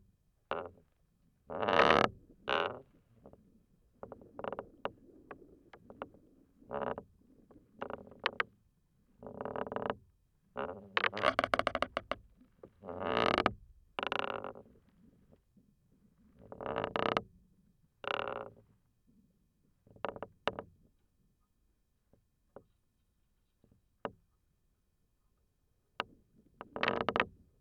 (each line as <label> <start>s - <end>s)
wooden belaying pin of a sailboat 9.2s - 14.8s
wooden belaying pin of a sailboat 23.6s - 24.4s
wooden belaying pin of a sailboat 26.0s - 27.5s